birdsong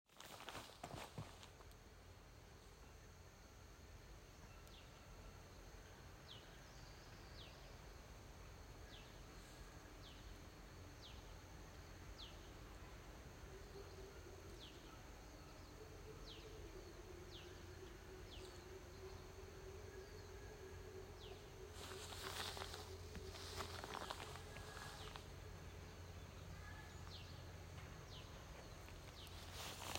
21.1 29.9

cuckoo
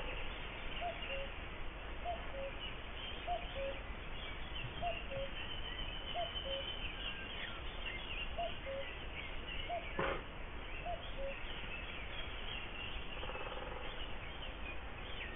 0.8 1.3, 2.0 2.6, 3.2 3.8, 4.6 5.4, 6.1 6.7, 8.4 8.9, 10.8 11.4

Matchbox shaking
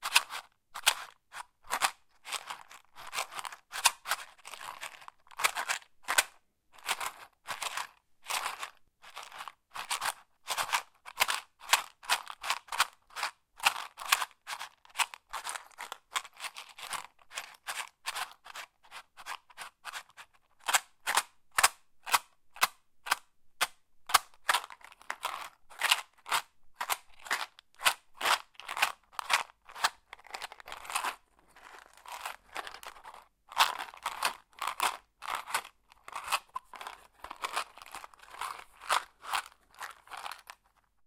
24.1 40.9

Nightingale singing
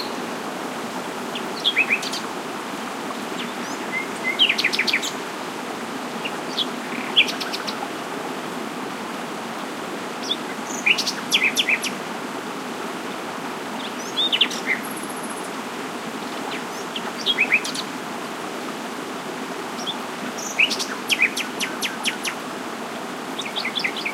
0.0 0.3

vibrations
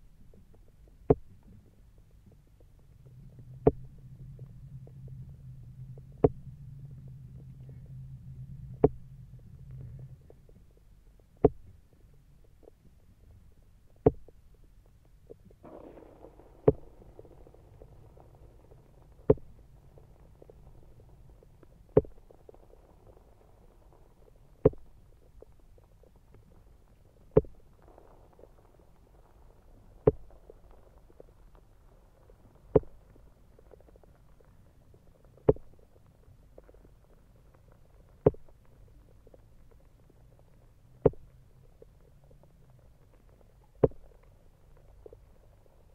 2.8 10.8

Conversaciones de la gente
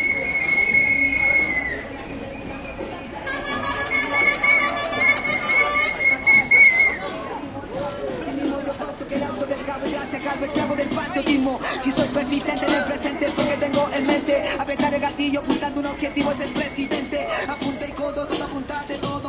4.0 19.2

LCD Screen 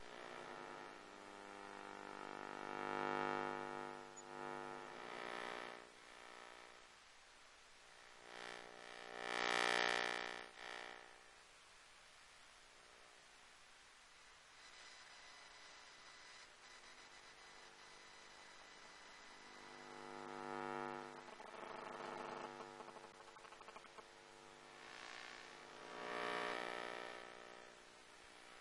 18.2 24.0

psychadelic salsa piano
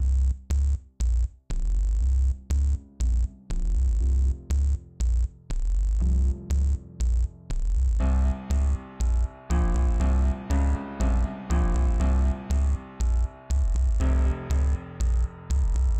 6.0 15.9

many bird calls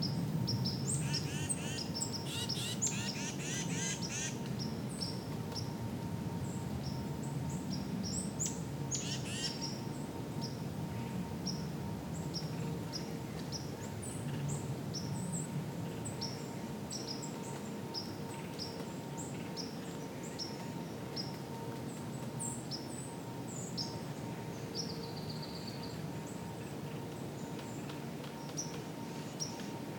0.5 4.4

